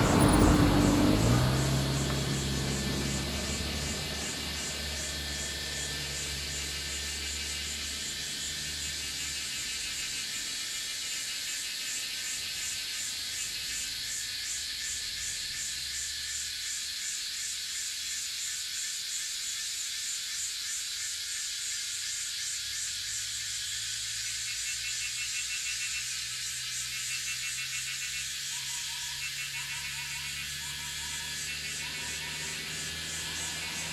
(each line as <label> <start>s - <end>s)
Cicada sounds 0.0s - 33.9s
Bird sounds 26.9s - 33.9s